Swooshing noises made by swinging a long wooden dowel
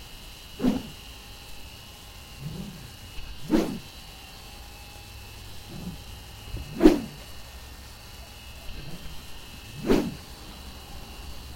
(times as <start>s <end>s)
0.6s 1.0s, 2.4s 3.9s, 5.6s 7.3s, 8.8s 10.2s